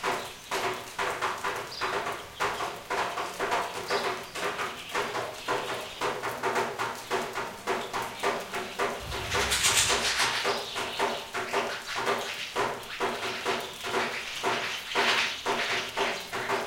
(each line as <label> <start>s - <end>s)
Raindrops fall on a metal plate 0.0s - 16.6s
outside rains heavily 0.0s - 16.6s
chirps and wing fluttering from Common Sparrow 7.8s - 16.6s